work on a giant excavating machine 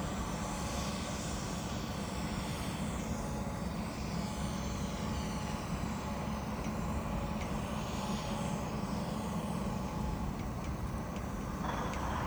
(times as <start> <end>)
10.6 12.2